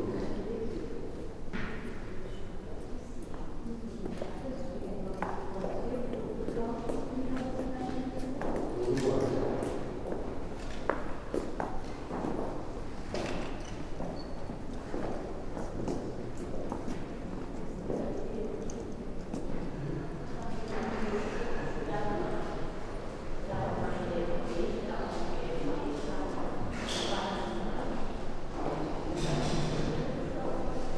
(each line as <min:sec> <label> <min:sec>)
0:19.7 people talking 0:22.8
0:23.4 people talking 0:30.9